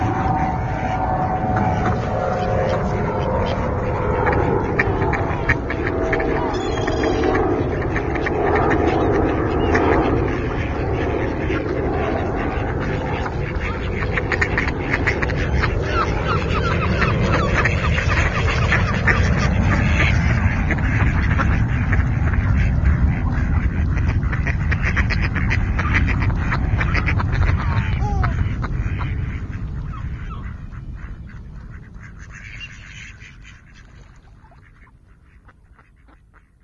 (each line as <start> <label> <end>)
0.0 ducks 36.6
0.0 plane passing by 36.6